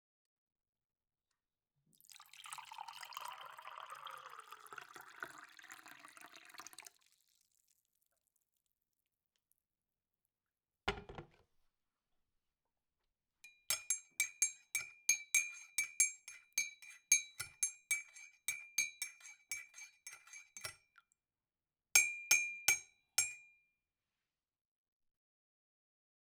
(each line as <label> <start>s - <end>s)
pouring water from a jug 2.0s - 8.6s
stiring with a metal spoon 13.4s - 20.9s
stiring with a metal spoon 22.0s - 23.4s